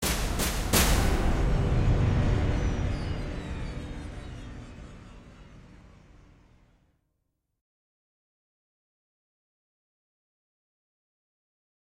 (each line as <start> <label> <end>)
0.0 drum 1.9